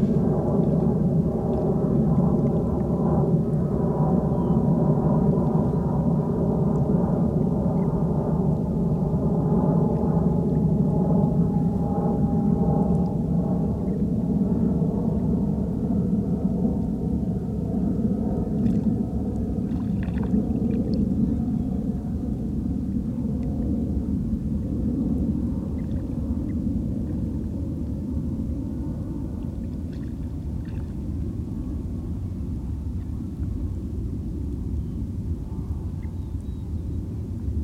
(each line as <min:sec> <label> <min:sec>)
0:00.0 airplane 0:37.6
0:19.6 small fish splashing in the water near the shore 0:21.1